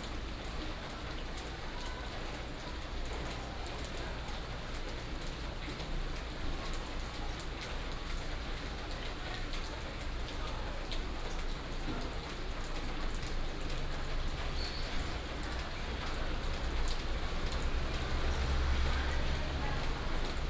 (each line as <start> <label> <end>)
0.0 Rainy day 20.4
13.1 Traffic sound 20.4